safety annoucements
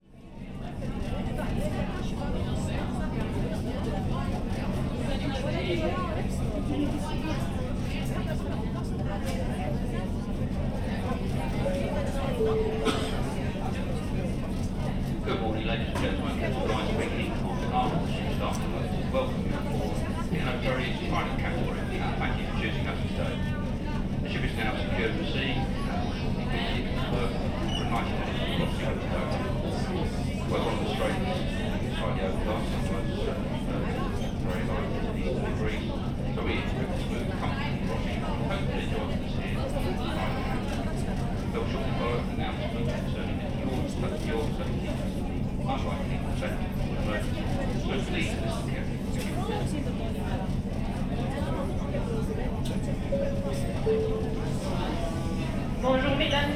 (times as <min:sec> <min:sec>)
0:53.2 0:55.2